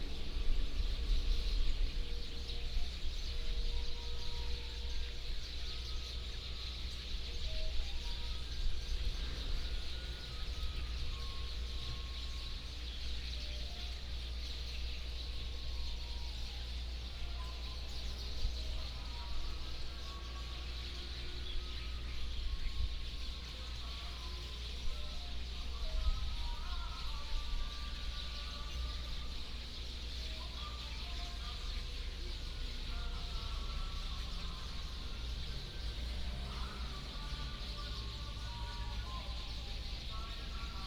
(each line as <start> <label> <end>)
0.0 Birdsong 40.8
33.0 Traffic Sound 40.8